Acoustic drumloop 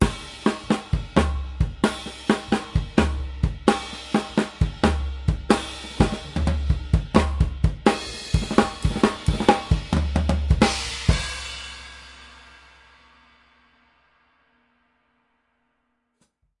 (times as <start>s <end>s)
0.0s 12.7s